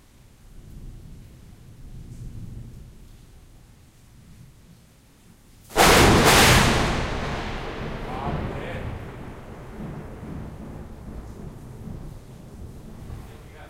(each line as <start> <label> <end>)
0.0 rain 13.6
0.5 thunder and lightning 3.4
5.7 thunder and lightning 13.6